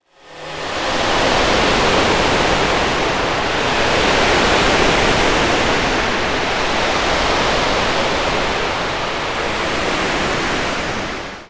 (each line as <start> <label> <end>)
0.8 Heavy Sea Wave 11.4